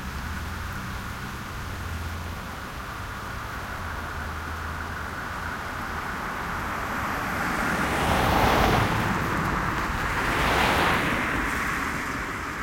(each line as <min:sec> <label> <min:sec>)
0:00.0 Medium traffic 0:12.6